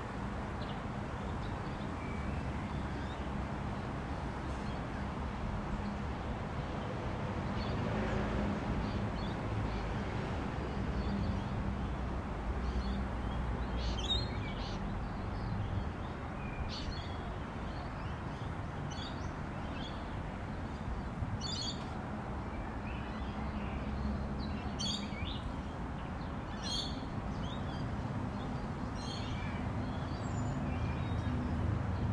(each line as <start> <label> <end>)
12.6 birds 32.1